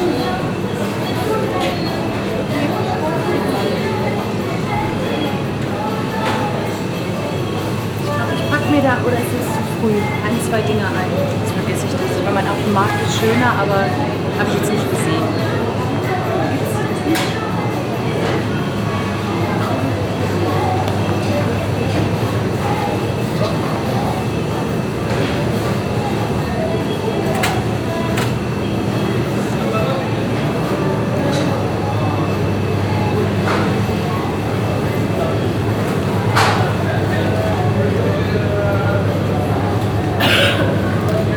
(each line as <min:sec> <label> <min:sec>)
0:08.0 women talking 0:15.6